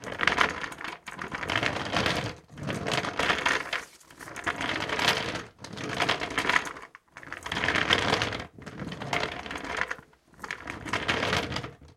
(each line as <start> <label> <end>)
0.0 table with wheels being rolled on the floor 11.9